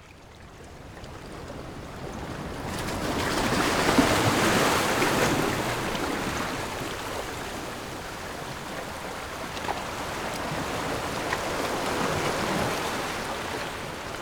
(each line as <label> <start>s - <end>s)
waves 1.0s - 14.2s